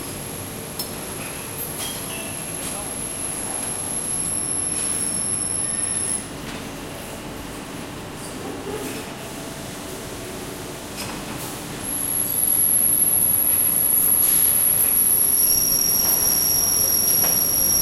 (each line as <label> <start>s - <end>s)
Semi automated line for car parts production 0.0s - 6.6s
Semi automated line for car parts production 10.2s - 17.8s